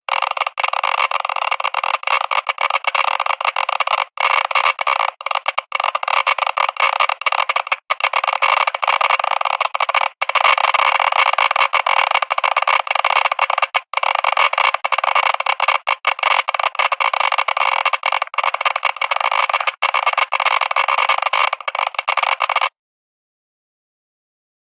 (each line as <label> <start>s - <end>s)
Electric geiger counter ticking fast 0.0s - 22.7s